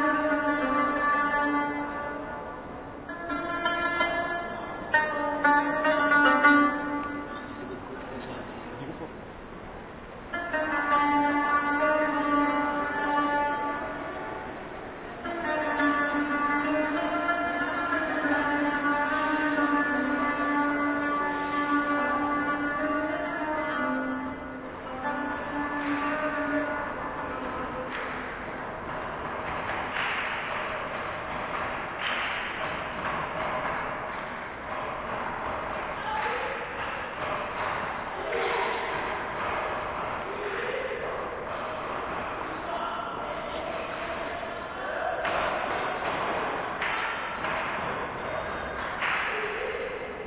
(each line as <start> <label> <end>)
0.0 Strings 50.2